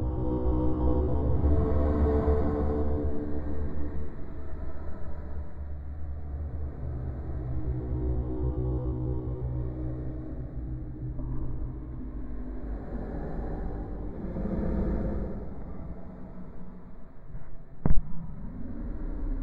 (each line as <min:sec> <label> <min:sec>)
0:00.0 Drone 0:19.4